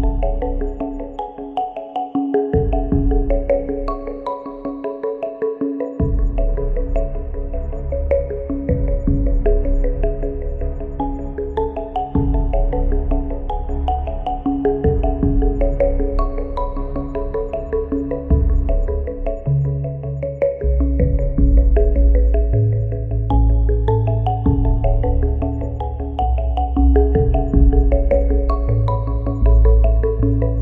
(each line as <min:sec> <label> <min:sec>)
0:00.0 synth 0:30.6
0:08.7 powerful bass sound 0:09.6
0:14.9 powerful bass sound 0:15.8
0:20.8 powerful bass sound 0:22.1
0:27.1 powerful bass sound 0:28.7